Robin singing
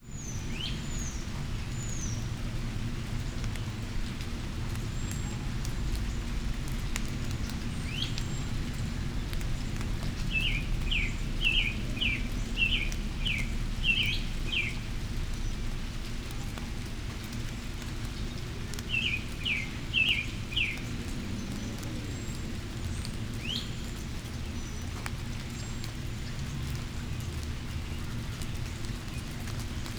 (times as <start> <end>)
10.3 14.8